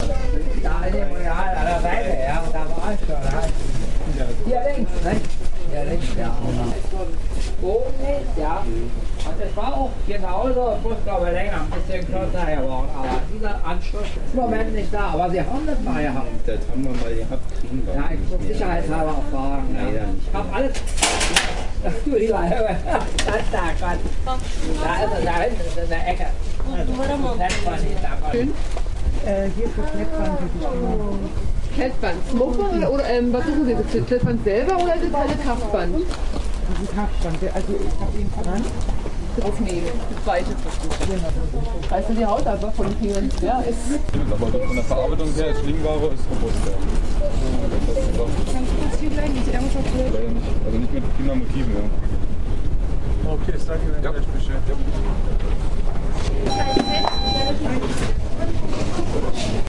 people talking to employees 0:00.0 - 0:59.6

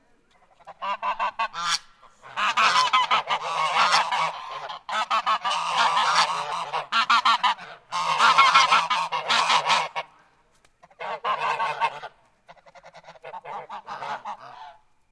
Geese honking 0:00.3 - 0:10.2
Geese honking 0:10.8 - 0:14.9

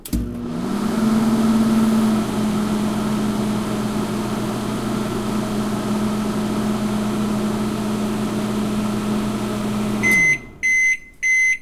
Microwave work 0:00.0 - 0:10.8
beep 0:10.0 - 0:11.6

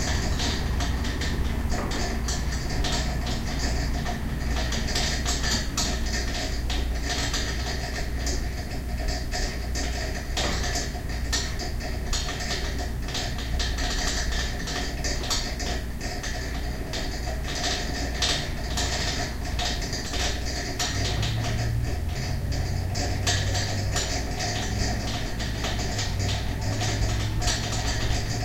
radiator noise 0:00.0 - 0:28.4

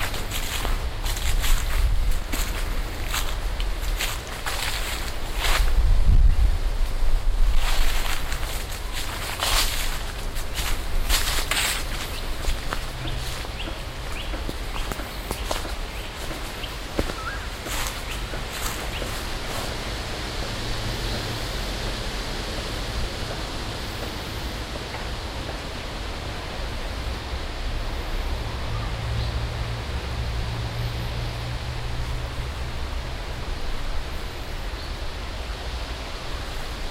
footsteps in grabble 0:00.0 - 0:05.8
in forrest soil 0:00.0 - 0:36.9
in leafs 0:00.0 - 0:36.9
footsteps in grabble 0:07.5 - 0:19.8

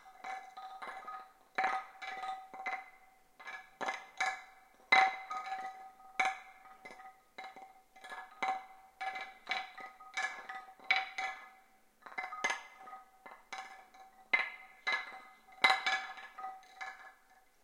home made woodblock mobile 0:00.0 - 0:17.6

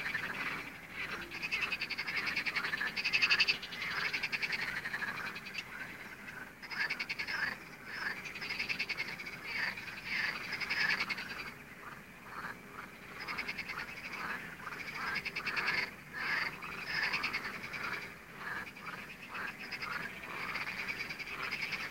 frogs 0:00.0 - 0:21.9

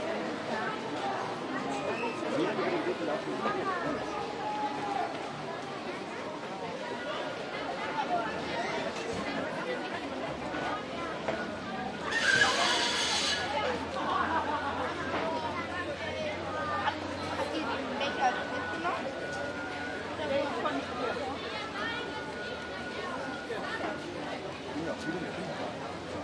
walla 0:00.0 - 0:26.2

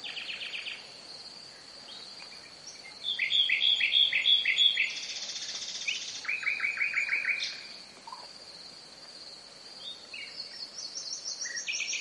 Nightingale singing 0:00.0 - 0:08.3
crickets chirping 0:00.0 - 0:12.0
wind on a Pine tree 0:00.0 - 0:12.0
Nightingale singing 0:09.7 - 0:12.0

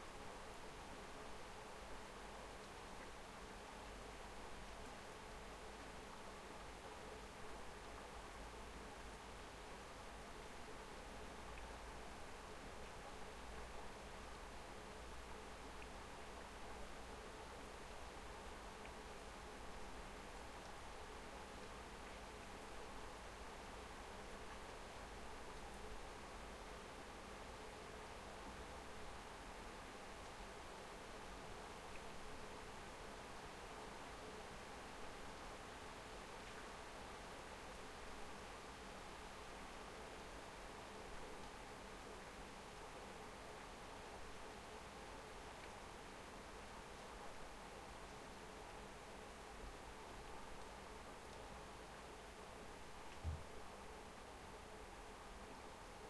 rain 0:00.0 - 0:56.0

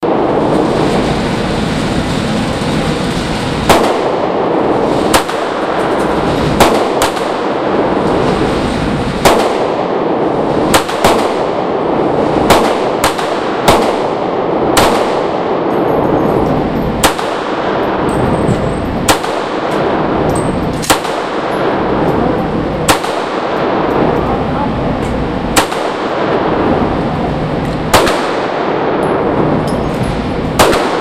Shooting 9mm in two gun booths 0:03.4 - 0:08.4
Shooting 9mm in two gun booths 0:09.1 - 0:22.2
Shooting 9mm in two gun booths 0:22.8 - 0:24.3
Shooting 9mm in two gun booths 0:25.4 - 0:26.7
Shooting 9mm in two gun booths 0:27.7 - 0:29.8
Shooting 9mm in two gun booths 0:30.4 - 0:31.0

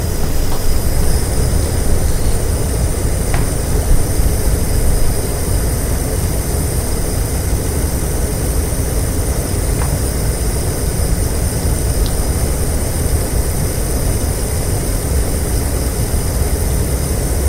Gas stove clicking fire burner 0:00.0 - 0:06.2
Gas stove clicking fire burner 0:09.2 - 0:13.4

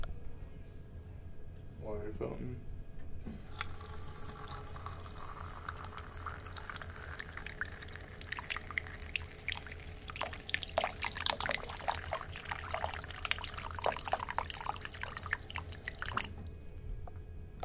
Water Fountain 0:03.3 - 0:16.4

